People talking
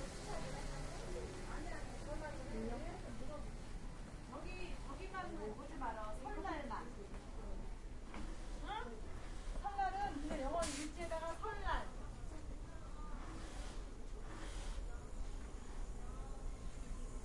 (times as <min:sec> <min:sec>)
0:00.0 0:03.6, 0:08.6 0:13.7